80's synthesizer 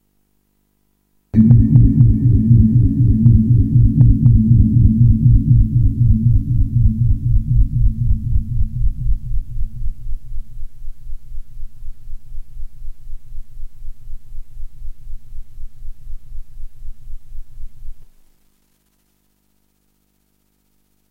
1.4 9.9

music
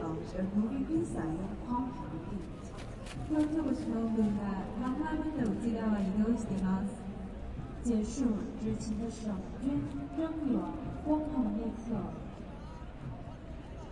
6.8 13.9

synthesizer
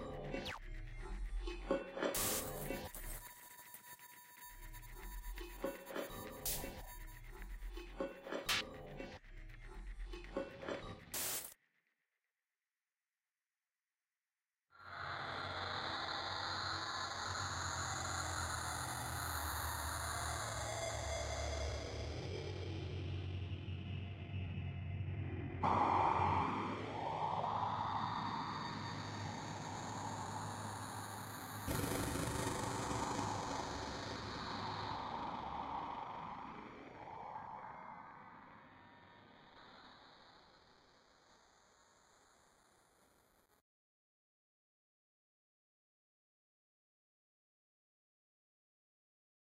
0.0 11.6

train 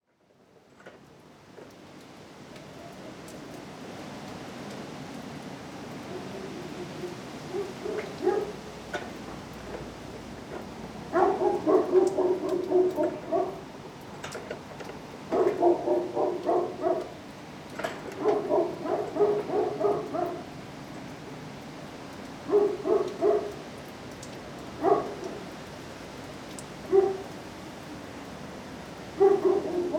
0.6 1.0, 7.8 13.5, 15.3 17.1

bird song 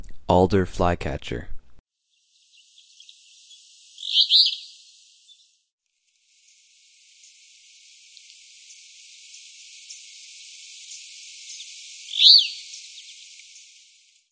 2.4 5.6, 8.1 14.2

